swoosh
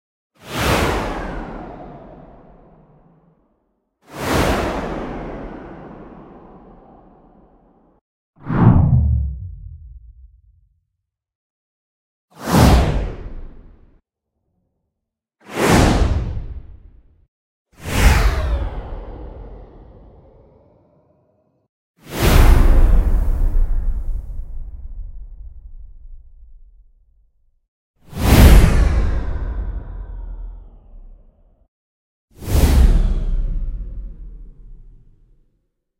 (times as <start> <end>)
8.4 10.6